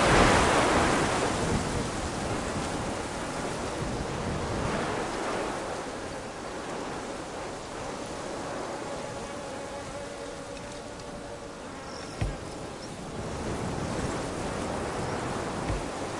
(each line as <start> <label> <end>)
0.0 bees 16.1
0.0 wind gusts on Cistus scrub 16.1
9.9 birds 13.2